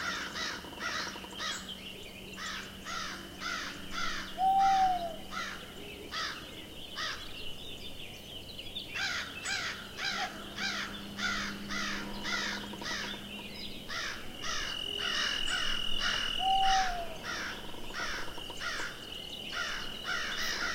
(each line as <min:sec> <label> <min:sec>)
0:00.0 crows 0:01.7
0:00.0 hooting owls 0:07.3
0:00.0 Tweeting birds 0:20.7
0:00.0 crickets 0:20.7
0:02.4 crows 0:07.2
0:09.0 crows 0:20.7
0:09.0 hooting owls 0:20.7
0:09.0 creaking trees 0:20.7